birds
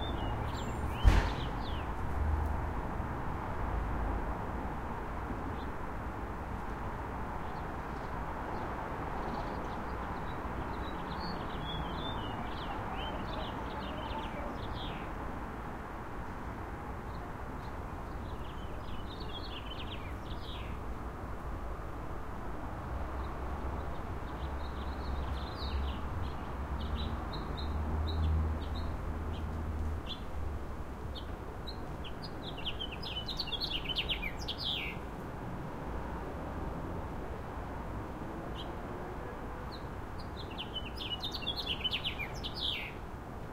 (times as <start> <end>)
0.0 2.1, 7.4 15.2, 31.1 35.1, 39.7 43.0